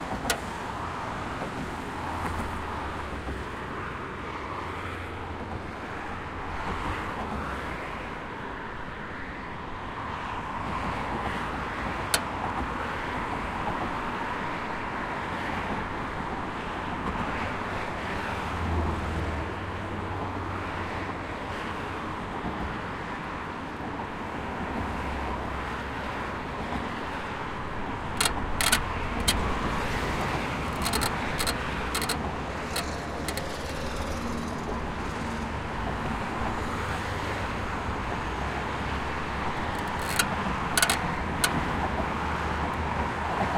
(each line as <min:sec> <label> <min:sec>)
0:00.0 cars 0:43.5
0:27.8 bridge creak 0:36.7
0:39.0 bridge creak 0:41.9